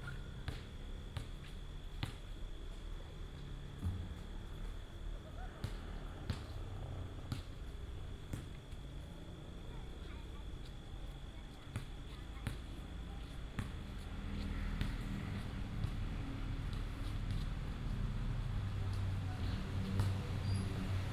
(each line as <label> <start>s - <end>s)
traffic sound 13.8s - 21.1s